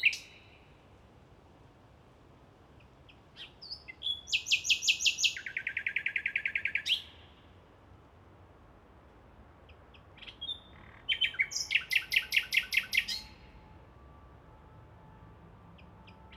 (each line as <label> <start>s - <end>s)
nightingale 0.0s - 0.8s
nightingale 2.8s - 7.6s
nightingale 9.6s - 13.7s